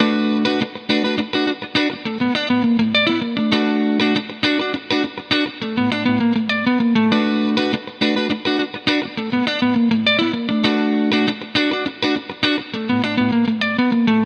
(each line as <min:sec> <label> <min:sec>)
0:00.0 guitar 0:14.2